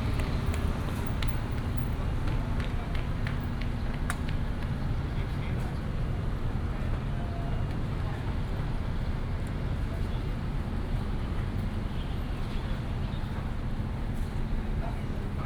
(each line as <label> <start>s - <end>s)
Traffic noise 0.0s - 5.2s